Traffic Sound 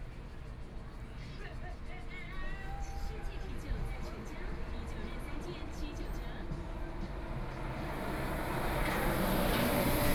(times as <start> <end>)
4.0 10.1